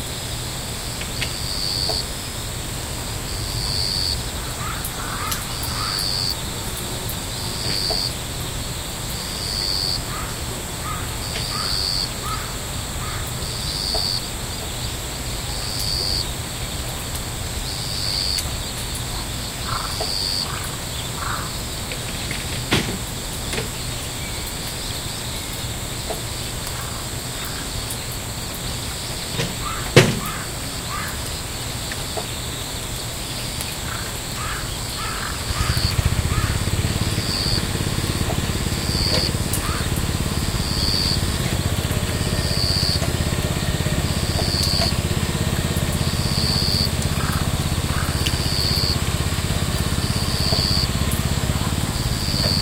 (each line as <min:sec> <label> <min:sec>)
0:00.0 cars passing by 0:52.6
0:00.0 cicadas 0:52.6
0:00.0 crickets 0:52.6
0:00.0 raindrops falling on the house, the roof, the land 0:52.6
0:00.0 tractor engine 0:52.6
0:03.3 crow sounds 0:16.3
0:17.7 crow sounds 0:52.6
0:23.4 chirps 0:43.0
0:31.8 workers were plucking vegetables 0:52.6
0:44.2 chirps 0:45.0
0:49.9 chirps 0:50.9